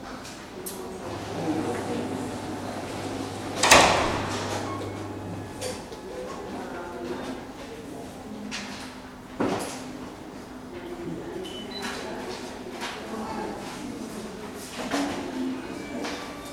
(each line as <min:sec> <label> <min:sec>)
0:00.7 voices 0:06.8
0:01.0 slamming of doors 0:05.9